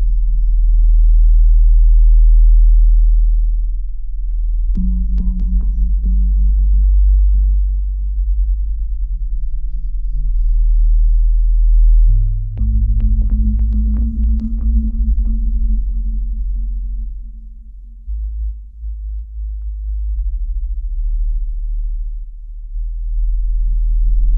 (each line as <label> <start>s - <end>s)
bassline 0.0s - 24.3s